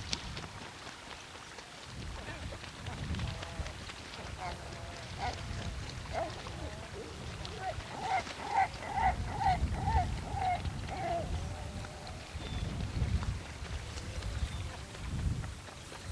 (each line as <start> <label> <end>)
0.0 winds pick up gusts through the grasses 16.1
2.5 seabirds cleansing themselves 12.9